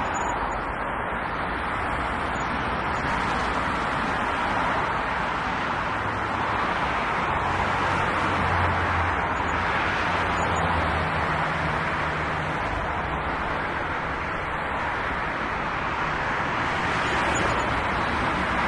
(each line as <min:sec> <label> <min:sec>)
0:00.0 Cars rolling on a highway 0:18.6
0:00.0 trucks 0:18.6